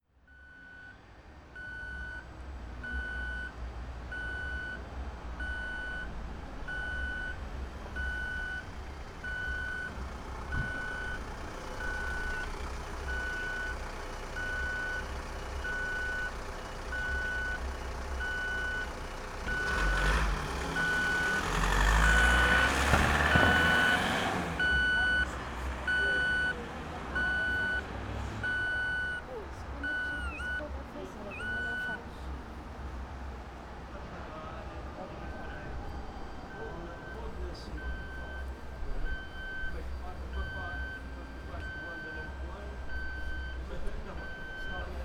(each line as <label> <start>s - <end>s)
streetlight sound signals 27.2s - 32.0s
streetlight sound signals 35.2s - 45.0s